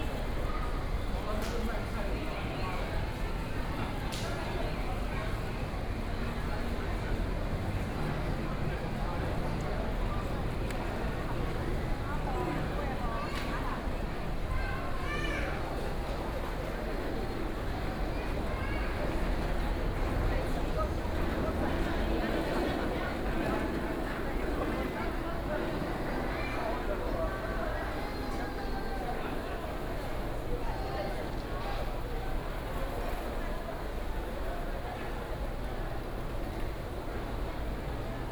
Traffic noise 15.6 - 38.3
Walking through the Flower Market 15.9 - 38.3

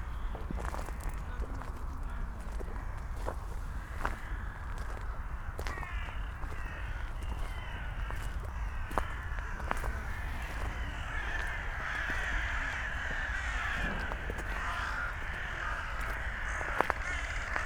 hundreds of dun crows 0.0 - 17.6
a few rooks 5.6 - 17.6
hikers clapping 10.6 - 17.6

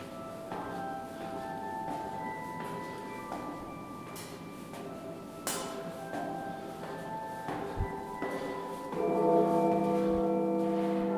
Carillon Bells toll and play music 8.3 - 11.1

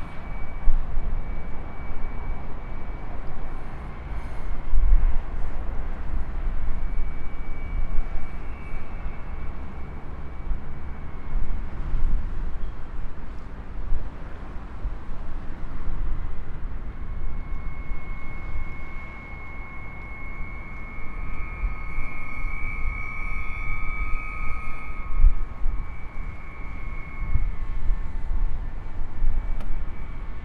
public wind harps 0.0 - 30.4
traffic of the N4 passing 0.0 - 30.4

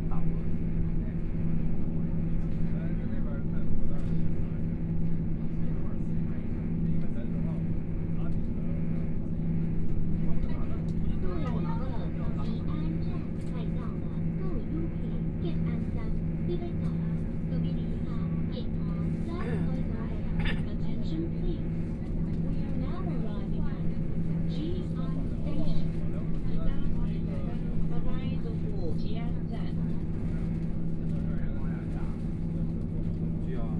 Noise inside the train 0.0 - 33.7
Dialogue between tourists 0.0 - 33.7
Train voice message broadcasting 10.8 - 30.6

